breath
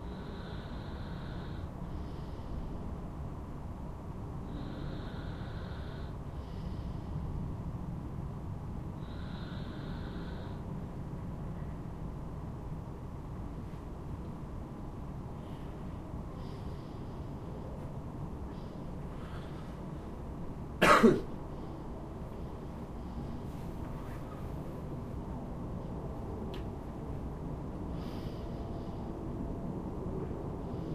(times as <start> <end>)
0.0 3.1, 4.4 7.5, 8.9 10.8, 15.3 20.3, 21.5 24.9, 27.9 29.4, 30.2 30.9